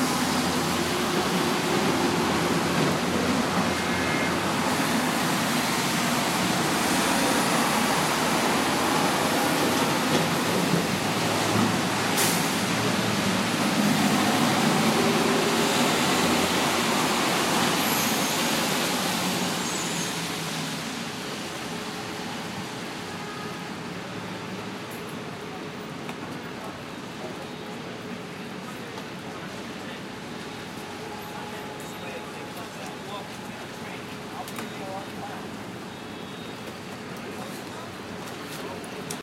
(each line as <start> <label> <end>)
0.0 rain 39.2
0.0 rainy city traffic 39.2